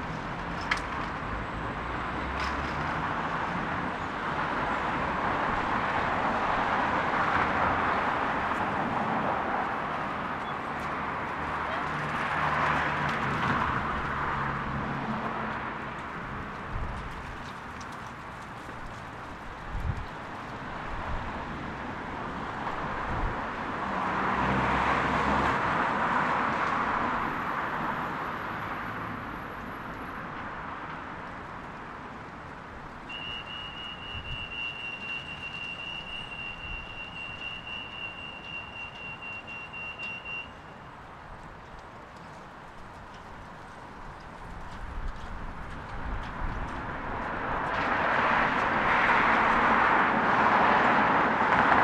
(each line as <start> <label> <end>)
0.0 windy 51.8